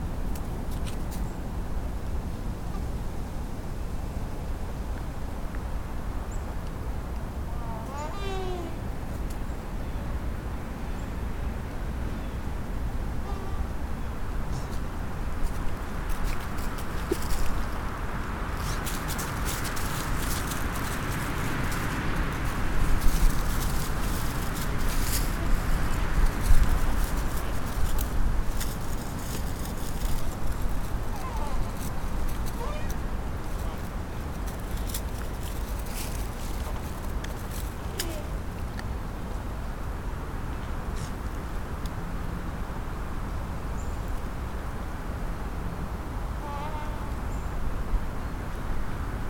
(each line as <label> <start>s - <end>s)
singing tree in heavy wind 0.0s - 49.2s
small raindrops 14.6s - 39.4s